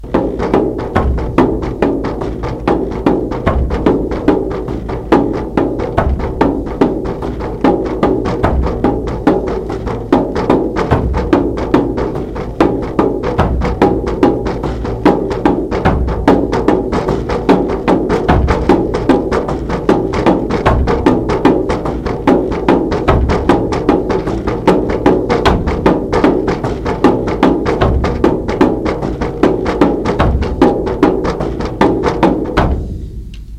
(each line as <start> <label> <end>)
0.0 drums 33.5